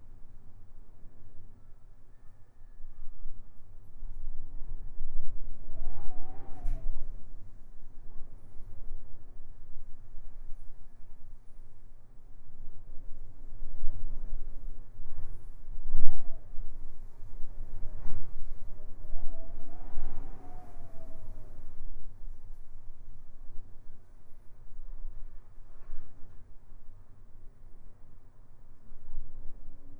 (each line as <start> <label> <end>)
0.0 wind whistling through the gap in a door 29.9